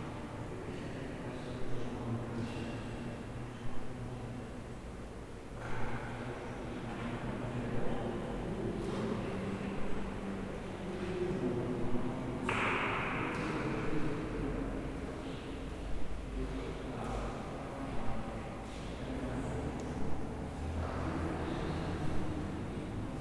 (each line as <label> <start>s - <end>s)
people talking and walking 5.5s - 23.2s